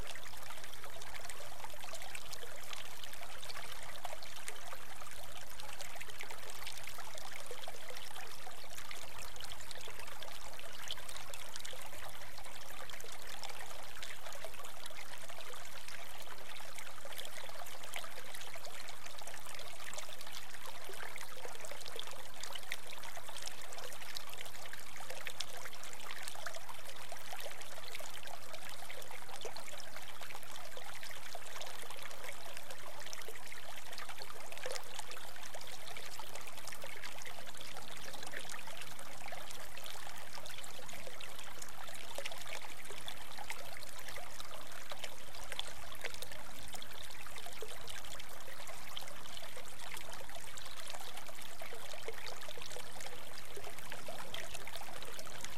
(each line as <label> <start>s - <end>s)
small bubbling creek 0.0s - 55.5s